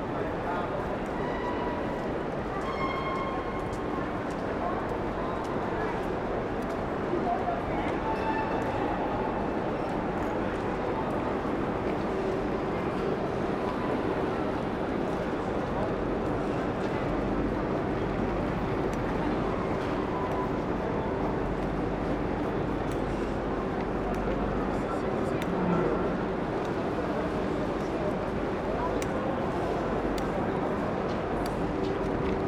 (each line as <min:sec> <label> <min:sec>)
0:00.0 Metro and trains are passing by 0:32.4
0:00.0 big urban noises 0:32.4